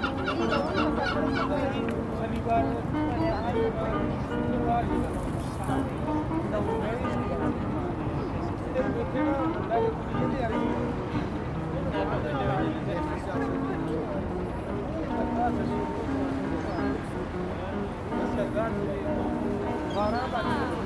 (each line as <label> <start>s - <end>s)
seagulls 0.0s - 1.8s
the river 0.0s - 20.8s